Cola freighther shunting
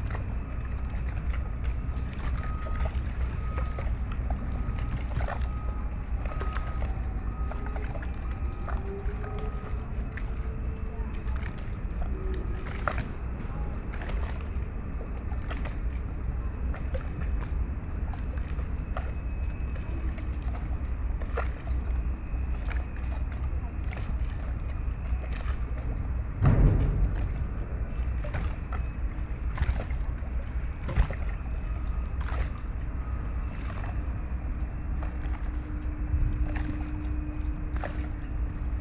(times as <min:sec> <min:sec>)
0:26.4 0:29.6